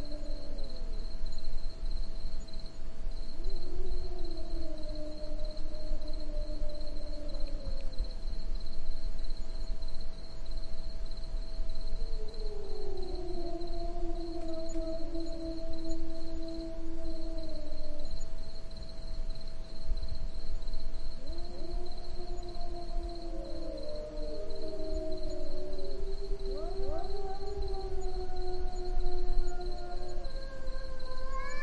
Two cats cry 0:21.5 - 0:31.6

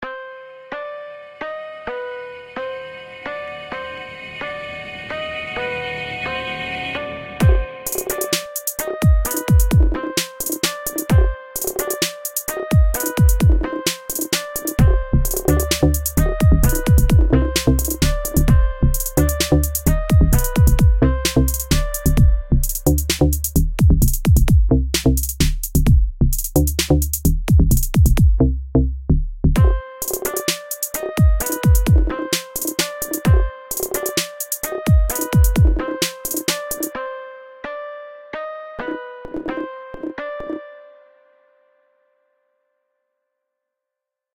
drum loop 0:07.4 - 0:28.4
drum loop 0:29.6 - 0:36.9

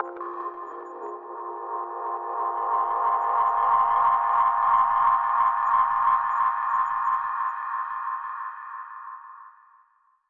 synth 0:00.0 - 0:06.3

